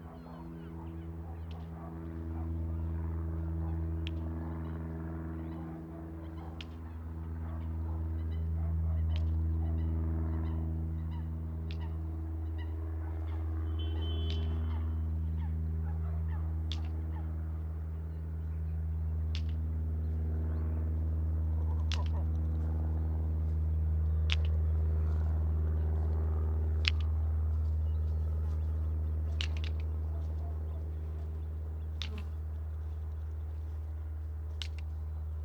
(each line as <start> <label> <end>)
0.0 Propeller planes 35.4